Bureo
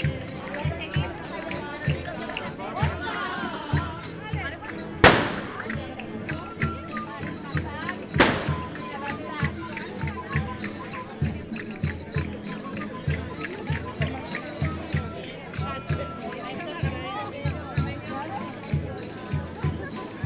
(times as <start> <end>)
4.1 9.2